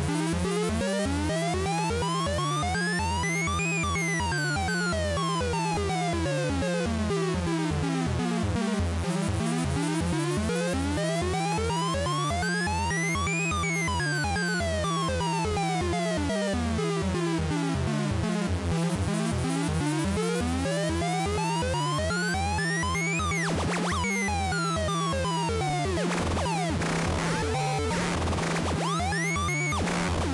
synth 20.7 - 30.3

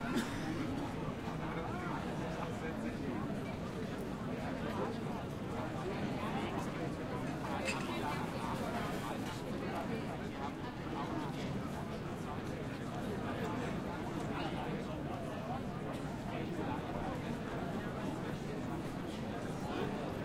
People in a cafe, pretty noisy 0.0 - 20.2

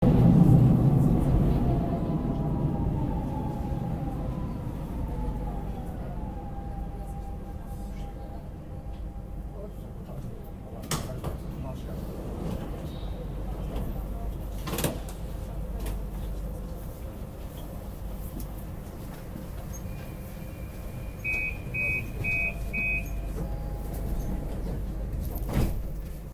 doors opening and closing on subway 0.0 - 26.3

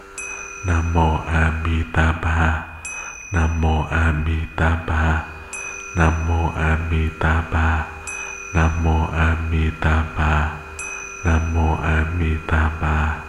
Me chanting 0.0 - 13.2
bell between chants 0.0 - 13.2

